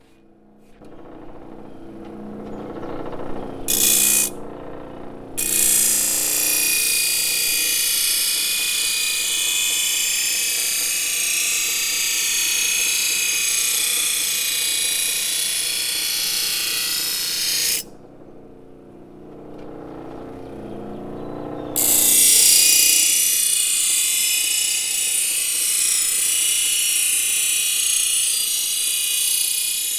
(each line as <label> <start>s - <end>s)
blade sharpener 3.7s - 4.4s
blade sharpener 5.4s - 17.9s
blade sharpener 21.8s - 29.9s